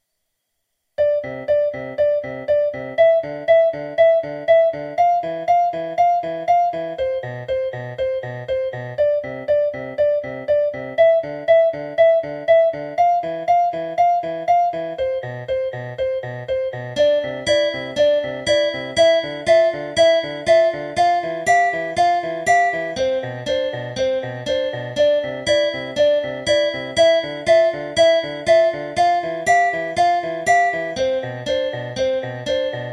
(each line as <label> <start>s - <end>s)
Piano 1.0s - 32.9s